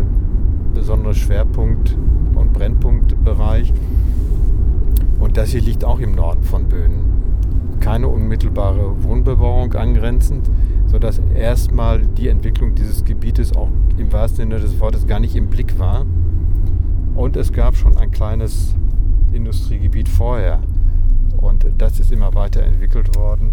Driving a dirt road 0.0 - 23.5
motorway 0.0 - 23.5

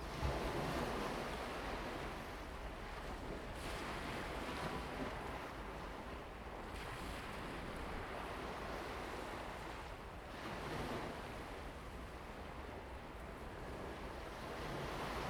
waves 3.0 - 15.2

